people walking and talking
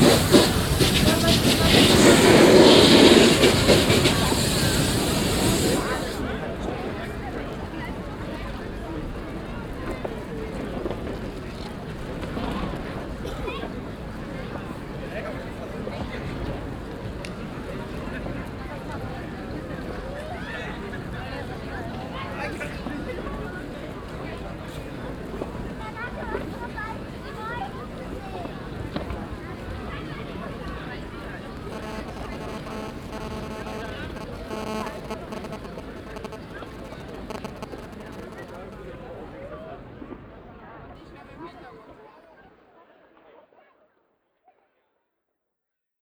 25.2 39.6

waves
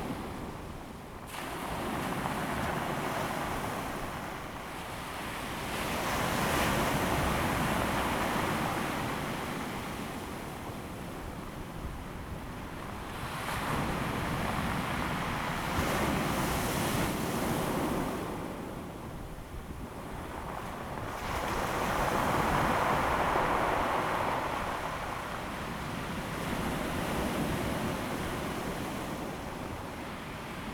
1.3 11.6, 20.0 30.7

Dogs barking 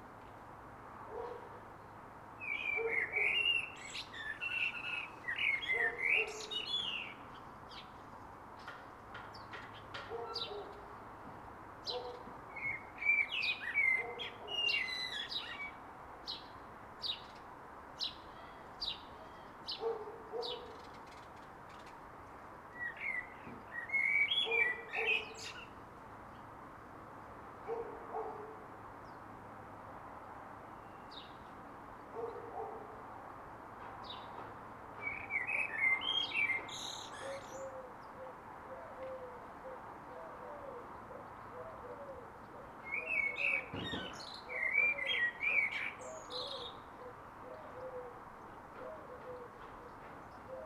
1.1 1.6, 10.1 10.8, 19.8 20.8, 27.7 28.6, 32.1 33.0

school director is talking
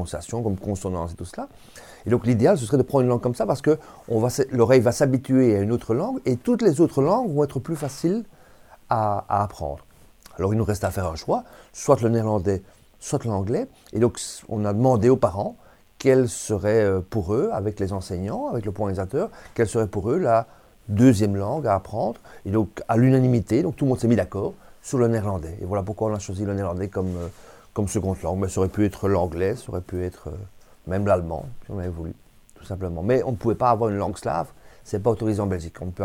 0.0 8.3

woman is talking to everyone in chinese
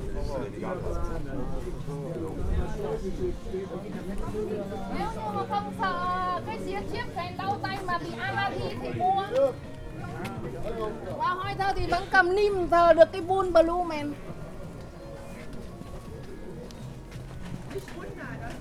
4.9 9.5, 11.1 14.2

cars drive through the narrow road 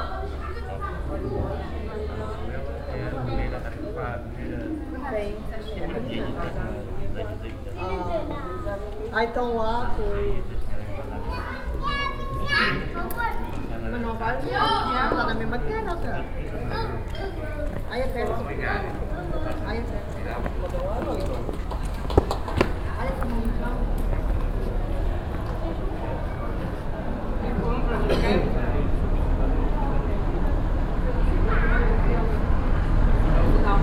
9.9 33.8

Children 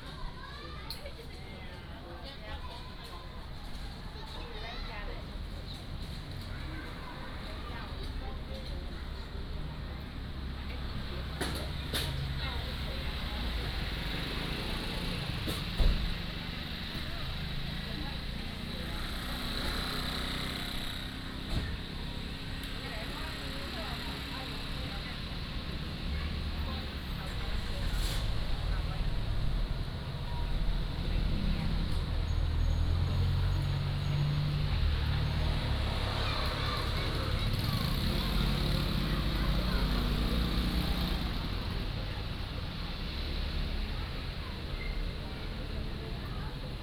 0.0 10.0, 30.2 41.5

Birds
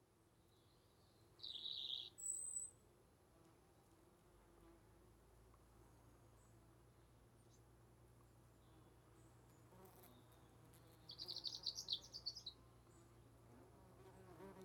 0.4 2.7, 8.2 13.3

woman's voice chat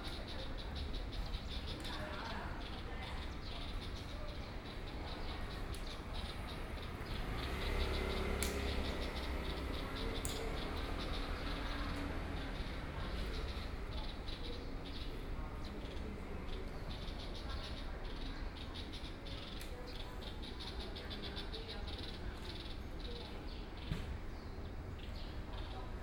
0.0 6.4

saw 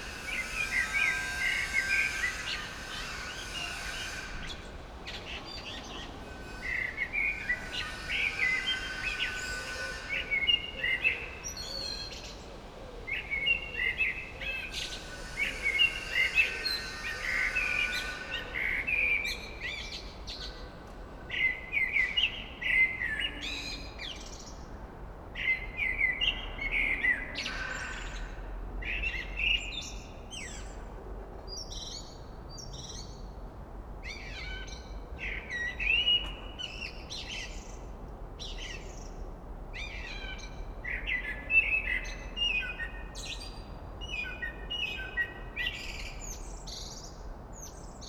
0.0 24.1

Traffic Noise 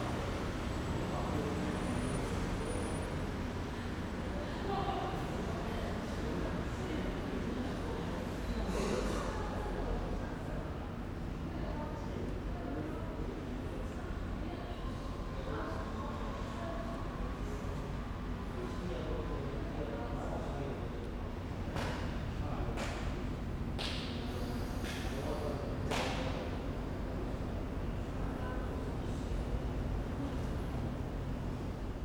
21.0 32.0

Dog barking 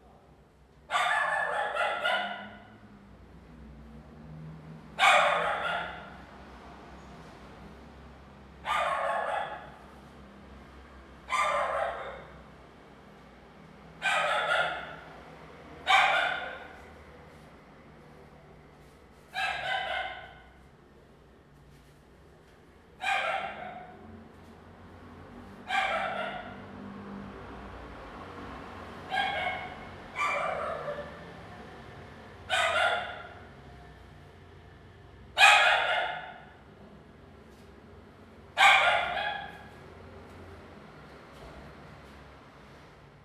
0.9 2.8, 5.0 6.2, 8.6 9.8, 11.3 12.5, 14.0 15.2, 15.8 16.9, 19.3 20.6, 23.0 24.1, 25.6 26.9, 29.0 31.5, 32.4 33.6, 35.4 36.6, 38.6 39.8

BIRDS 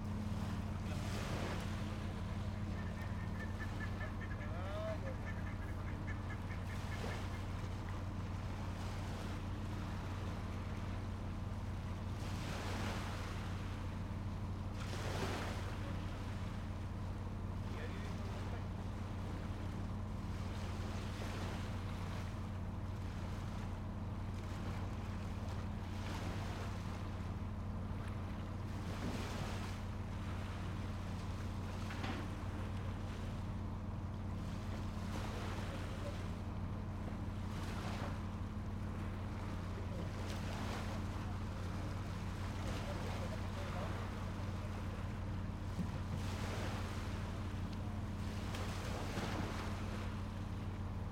1.5 8.2

